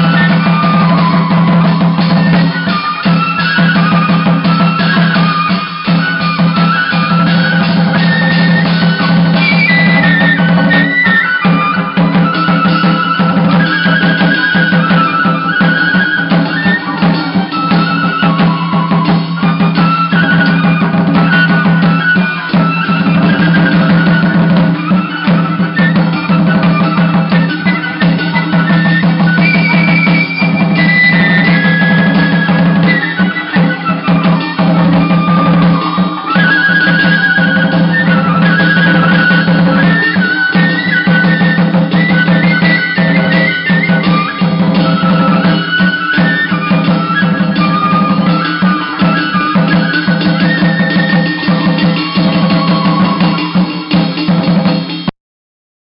0.0s Chầu văn musicians 55.1s

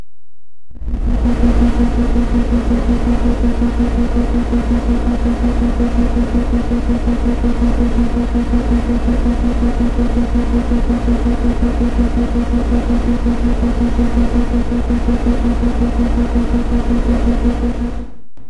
0.8s SYnth NoisesAP 18.2s

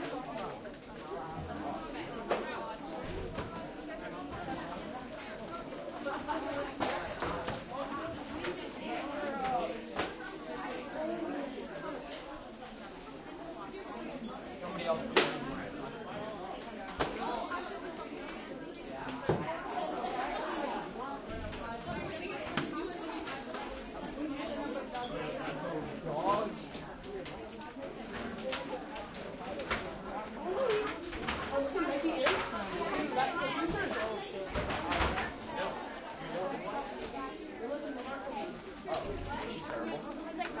0.0s crowd 40.6s

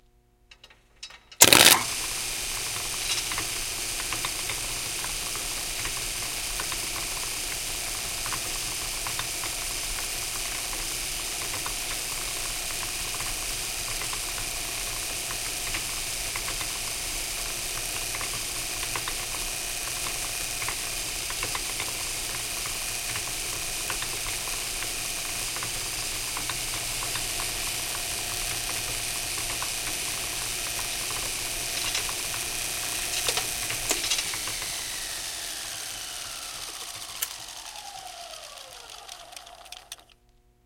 1.4s switch 2.1s
1.4s machine metal cutter grinder rollers 40.2s
1.4s spark 40.2s
29.4s switch 40.4s

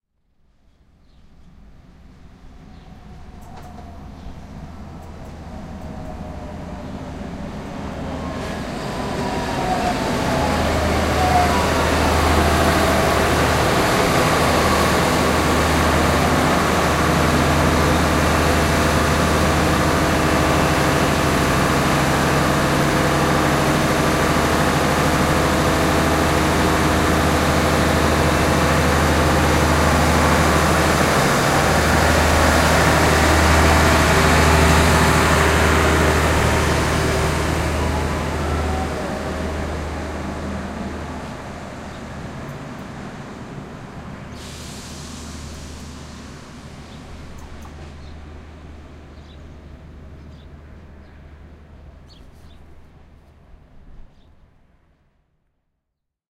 0.4s Diesel train arrives and departs 55.1s

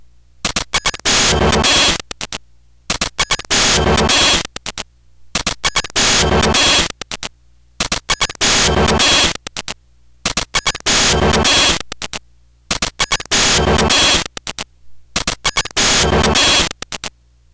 0.8s GBA glitch 2.0s
3.2s GBA glitch 4.5s
5.6s GBA glitch 6.9s
8.1s GBA glitch 9.4s
10.4s GBA glitch 11.8s
13.0s GBA glitch 14.3s
15.2s GBA glitch 16.8s

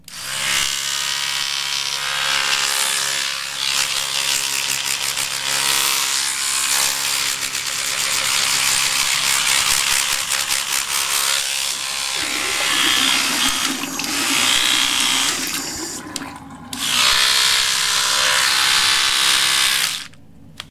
0.0s electric toothbrush 16.0s
11.5s water 18.1s
16.8s electric toothbrush 20.2s

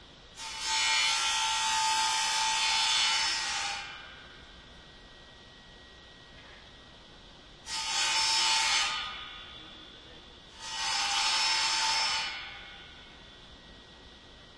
0.4s grinder on metal 4.2s
7.6s grinder on metal 9.6s
10.5s grinder on metal 13.1s

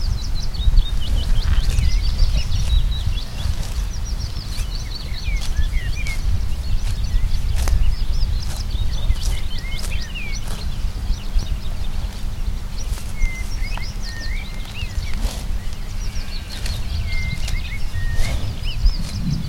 0.0s birds 19.4s
0.0s highland cow walking and munching on a grass 19.4s
12.9s sheep 19.4s

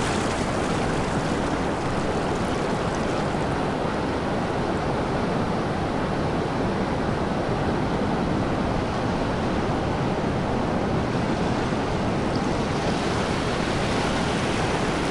0.0s heavy surf 7.1s
7.7s heavy surf 15.1s

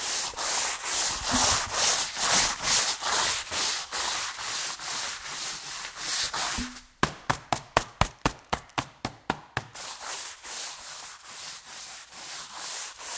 0.0s broom 7.0s
9.6s broom 13.1s

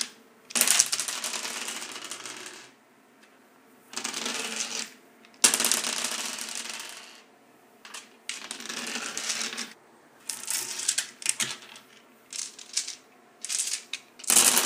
0.0s various dice rolling on a tile surface 3.3s
3.9s various dice rolling on a tile surface 7.3s
7.9s various dice rolling on a tile surface 14.6s

